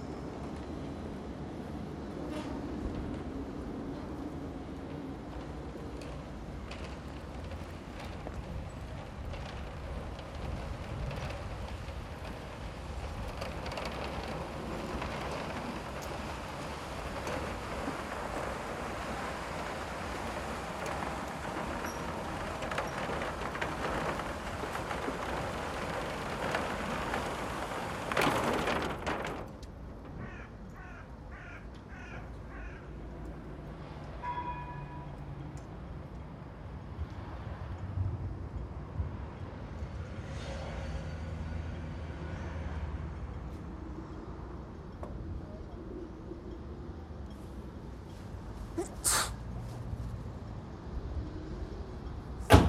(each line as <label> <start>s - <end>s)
regular pulse of the train in the distance 0.0s - 52.6s
traffic 0.0s - 52.6s
wind and trees 0.0s - 52.6s